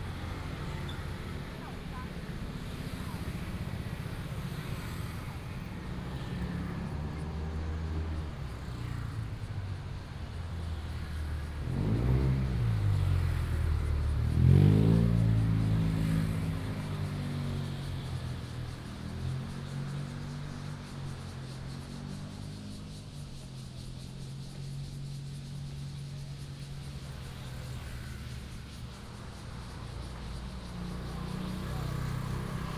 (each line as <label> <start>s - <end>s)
Cicada sounds 0.0s - 32.7s
Traffic Sound 0.0s - 32.7s